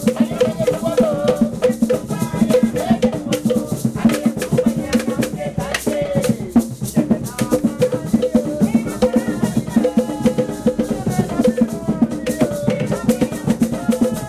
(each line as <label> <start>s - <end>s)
Drummers 0.0s - 14.2s